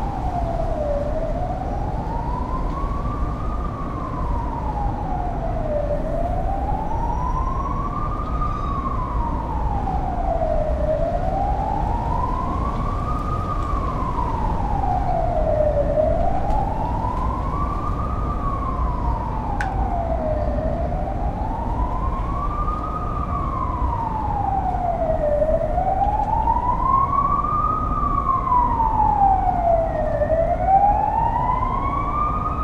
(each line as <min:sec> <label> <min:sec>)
0:00.0 Sirens 0:32.6
0:00.0 wind 0:32.6